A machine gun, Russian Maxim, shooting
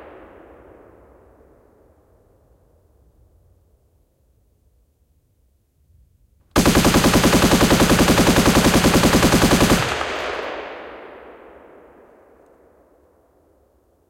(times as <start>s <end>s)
6.6s 11.0s